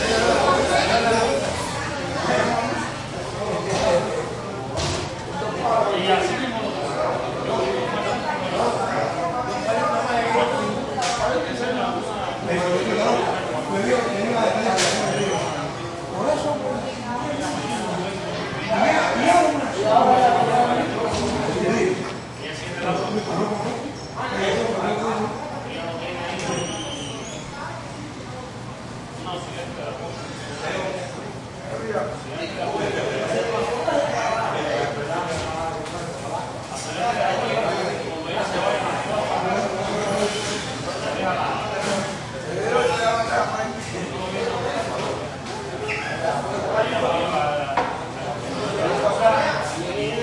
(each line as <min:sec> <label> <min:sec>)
0:00.0 little spanish walla with some roomy echo 0:50.2